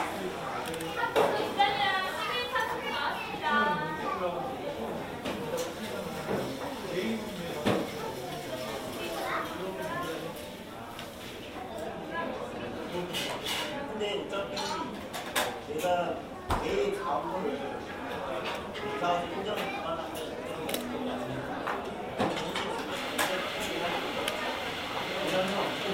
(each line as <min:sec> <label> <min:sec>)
0:15.8 people talking 0:25.9
0:23.0 espresso making sounds 0:25.9